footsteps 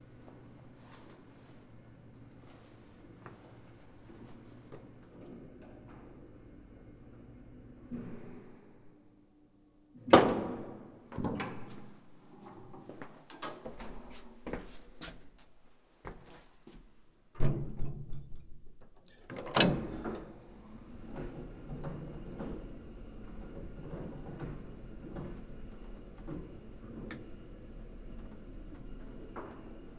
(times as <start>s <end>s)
12.8s 16.9s